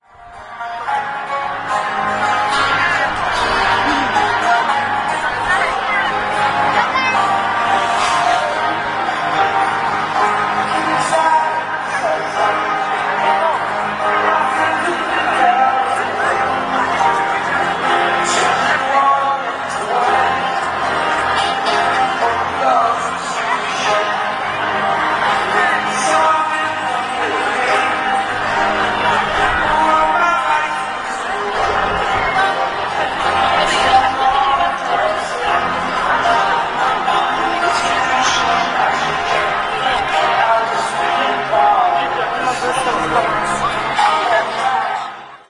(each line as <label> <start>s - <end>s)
concert 0.0s - 45.4s
crowd 0.0s - 45.4s